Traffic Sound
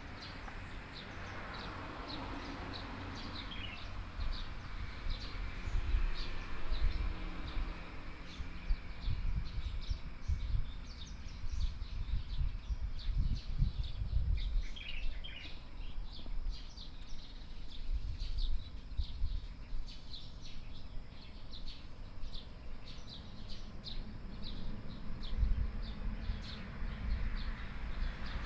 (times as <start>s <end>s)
0.0s 12.0s, 22.2s 28.4s